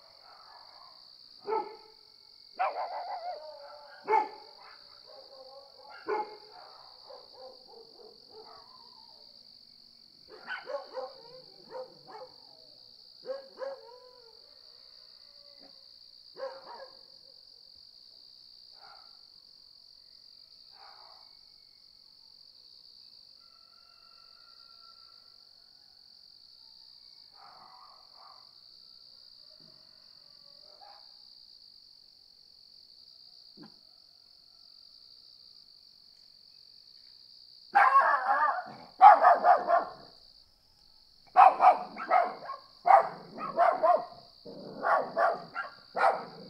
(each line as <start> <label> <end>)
0.0 crickets 46.4
0.1 dogs 1.8
2.6 dogs 9.2
10.3 dogs 14.4
16.4 dogs 17.1
18.8 dogs 19.2
20.8 dogs 21.3
27.3 dogs 28.6
30.6 dogs 31.2
37.8 dogs 40.1
41.3 dogs 46.4